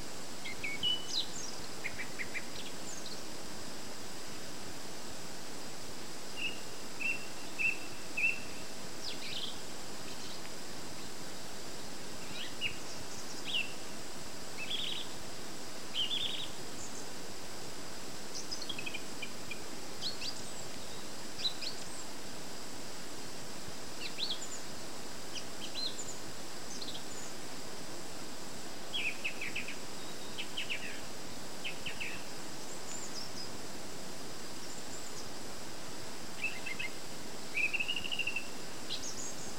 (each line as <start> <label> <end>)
0.0 Birds twittering in the hedges 39.5